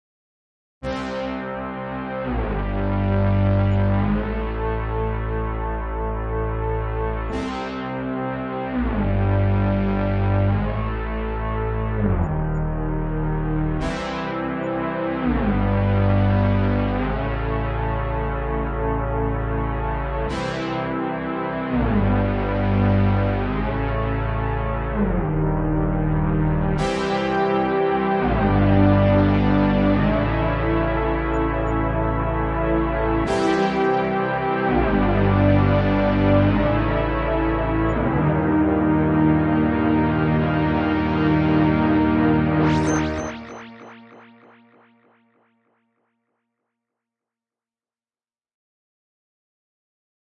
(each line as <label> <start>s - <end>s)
Synth Brass 0.8s - 46.0s